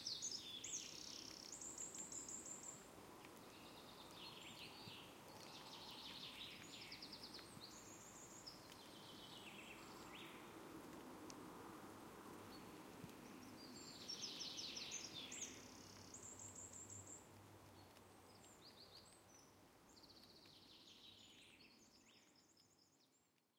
0.2s rain drop patter 20.6s

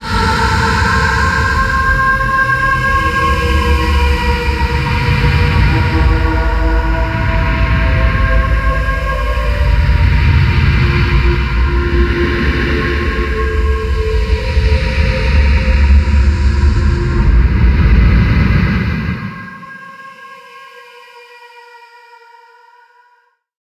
0.0s bass 19.4s
0.0s drone 21.6s
14.5s thunder 19.5s

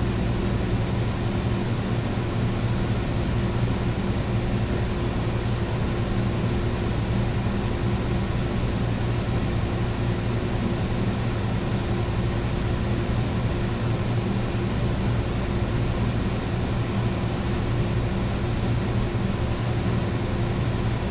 0.0s vent air conditioner 21.1s

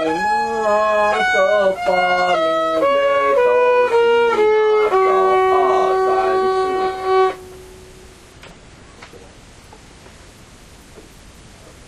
0.0s kid practicing violin 8.3s

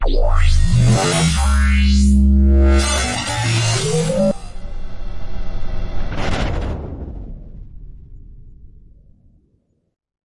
0.0s glitch 6.2s
0.0s drone 7.3s
0.0s rise 7.4s

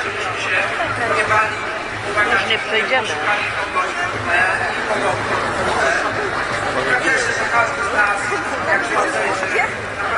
0.0s crowd 10.1s

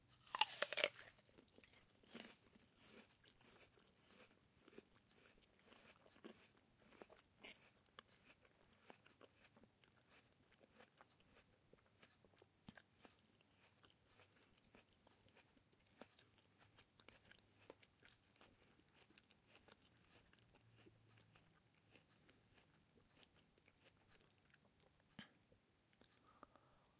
0.0s chewing/crunching on an apple 26.6s

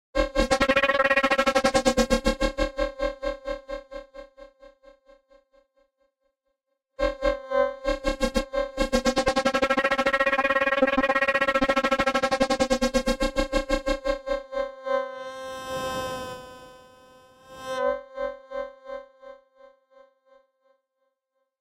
0.3s synth 2.5s
7.8s synth 14.2s

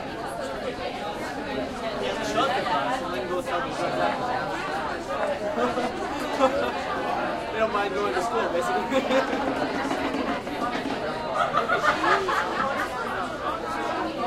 0.0s crowd int medium dense active 14.2s

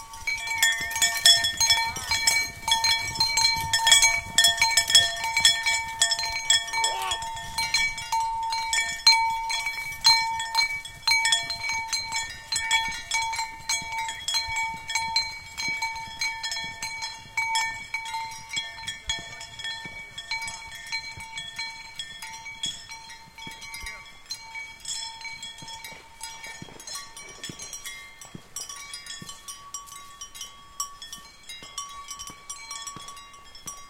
0.0s horse's bell 33.8s

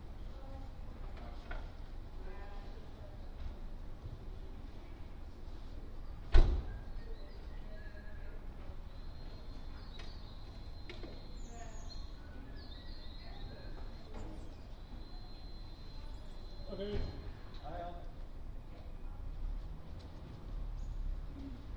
6.0s birds 17.9s
6.9s voices 19.4s

